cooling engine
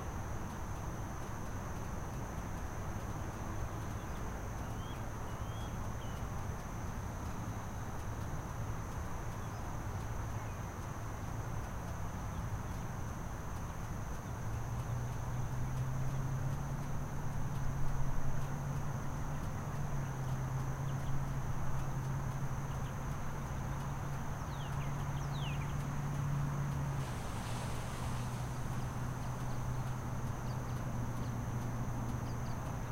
23.5s 32.9s

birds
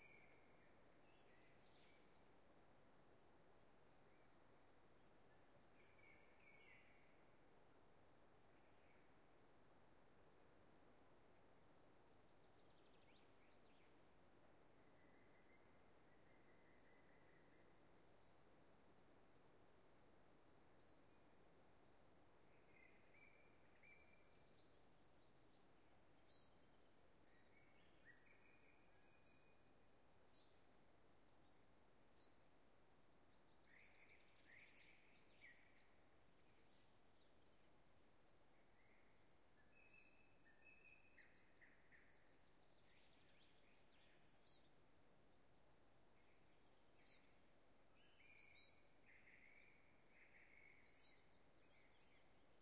20.8s 32.6s

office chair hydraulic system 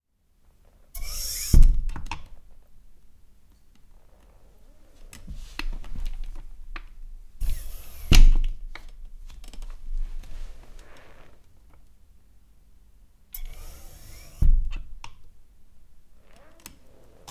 1.0s 2.2s, 7.4s 8.6s, 13.4s 14.9s

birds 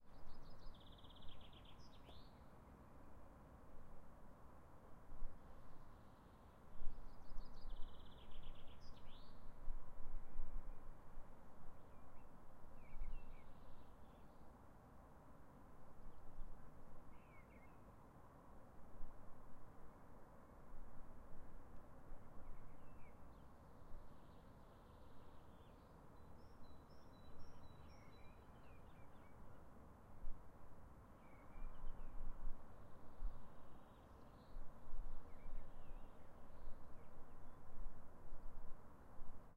0.0s 3.0s, 22.4s 29.7s

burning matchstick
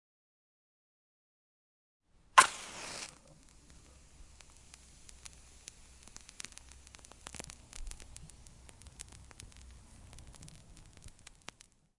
2.4s 11.9s

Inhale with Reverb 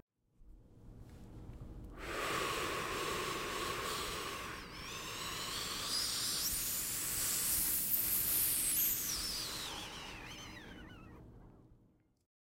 2.0s 11.6s

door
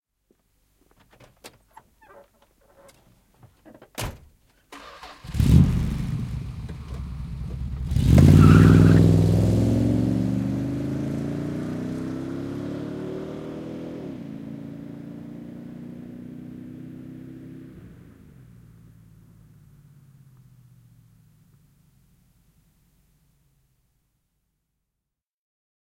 1.0s 4.4s

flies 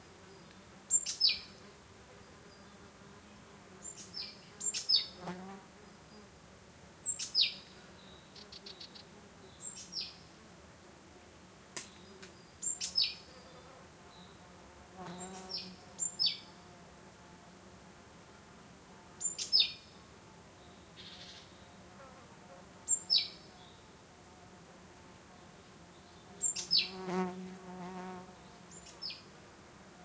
7.0s 30.0s

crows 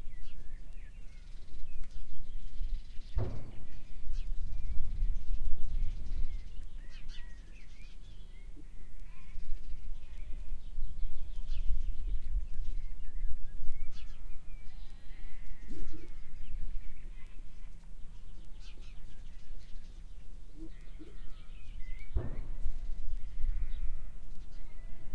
14.7s 16.5s, 20.6s 25.1s

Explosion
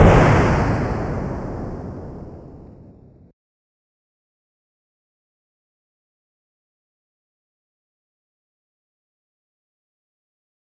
0.0s 3.3s

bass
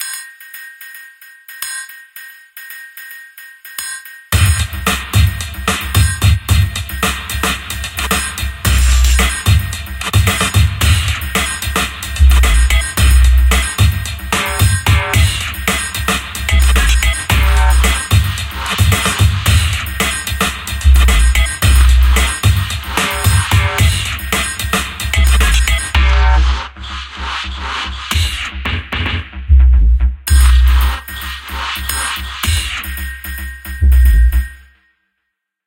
4.4s 24.4s, 25.1s 31.6s, 33.8s 34.5s

